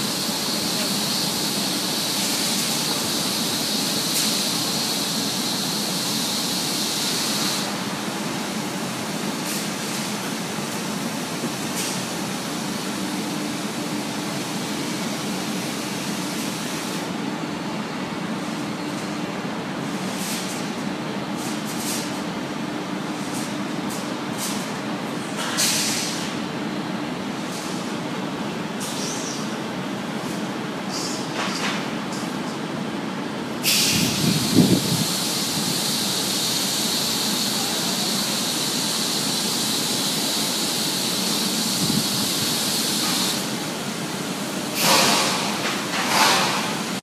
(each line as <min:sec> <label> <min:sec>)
0:00.0 machinery 0:47.0